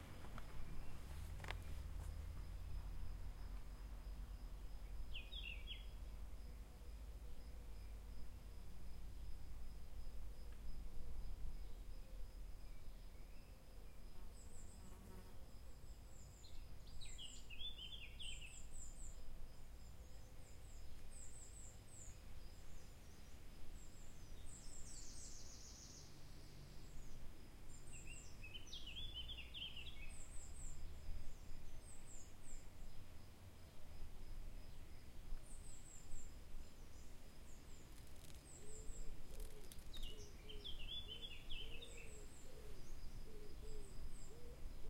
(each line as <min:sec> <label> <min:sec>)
0:00.0 birds 0:03.9
0:00.0 trees 0:44.8
0:04.6 birds 0:08.1
0:11.2 birds 0:33.8
0:34.6 birds 0:44.8